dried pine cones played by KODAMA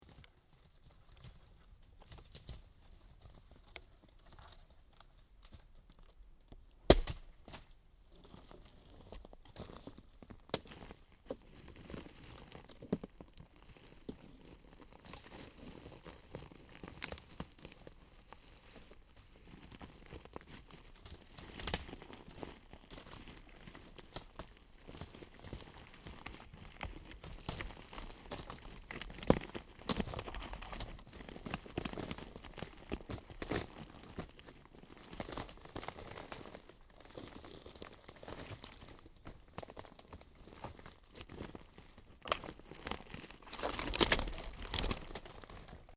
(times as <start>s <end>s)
19.4s 45.9s